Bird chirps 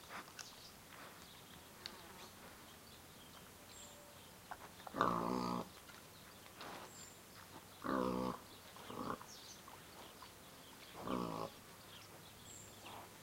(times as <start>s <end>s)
5.7s 13.1s